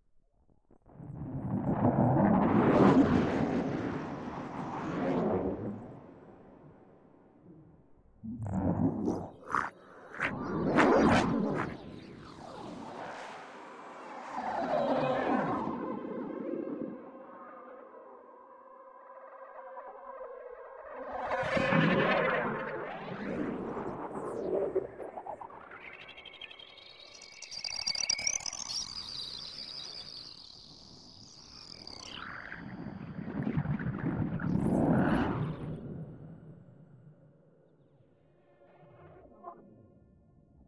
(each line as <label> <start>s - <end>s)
drone 21.5s - 36.6s